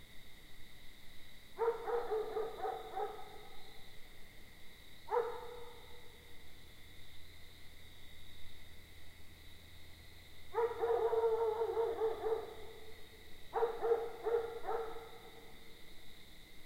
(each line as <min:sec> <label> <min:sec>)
0:00.0 crickets 0:16.6
0:01.6 bark of the dog next door 0:03.6
0:01.6 more distant dog 0:03.8
0:05.1 bark of the dog next door 0:06.1
0:05.1 more distant dog 0:06.2
0:10.5 bark of the dog next door 0:12.9
0:10.5 more distant dog 0:15.8
0:13.5 bark of the dog next door 0:15.6